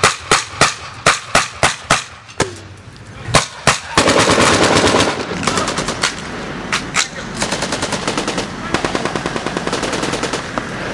gun 0.0 - 2.5

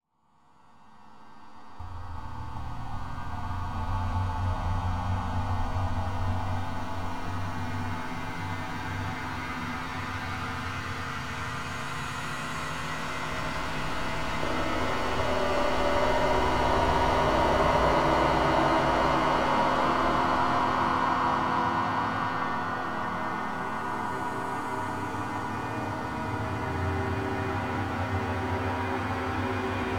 long low rumble 1.8 - 10.4
drone 1.8 - 29.9

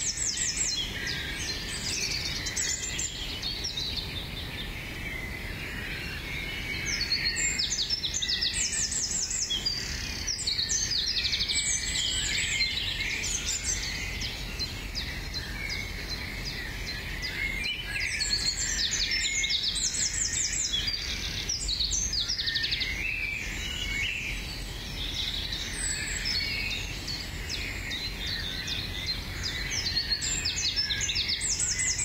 Birdsong 0.0 - 32.0

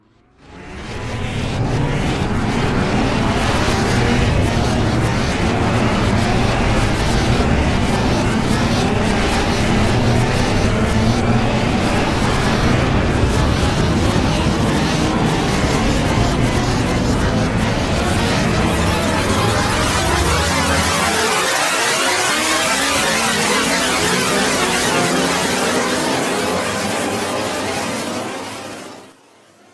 ghost subway cars racing by 0.3 - 29.7

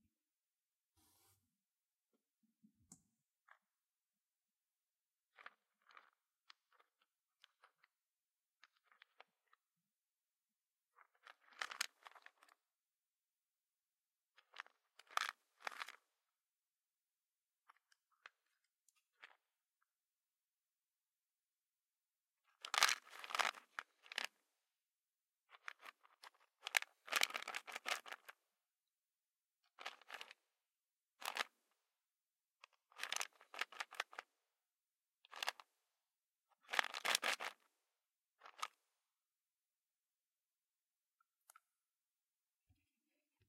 antacid bottle rattle 22.6 - 24.3
antacid bottle rattle 29.8 - 30.3
antacid bottle rattle 36.6 - 37.6

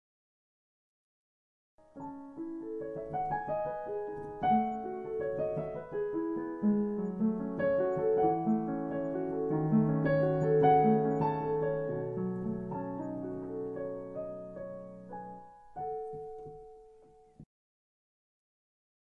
piano 1.8 - 17.5
creaking piano bench 2.8 - 14.6

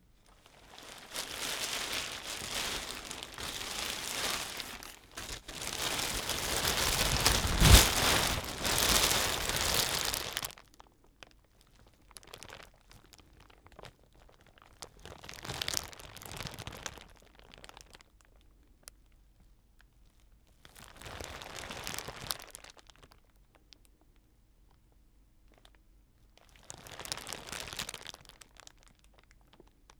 Thin-Sheet plastic polythene poncho Raincoat foley with various movements 0.0 - 10.6
Thin-Sheet plastic polythene poncho Raincoat foley with various movements 12.2 - 17.9
Thin-Sheet plastic polythene poncho Raincoat foley with various movements 20.7 - 22.9
Thin-Sheet plastic polythene poncho Raincoat foley with various movements 26.5 - 28.7

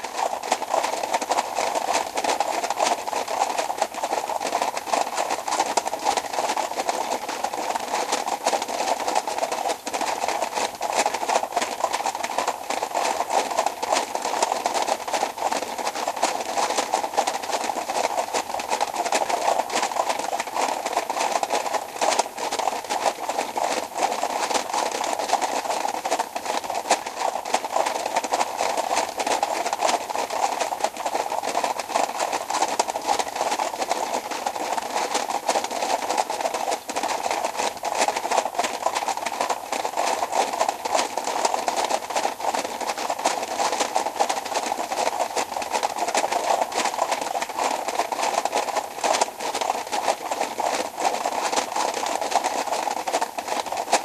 horse hooves on stone 0.0 - 54.0

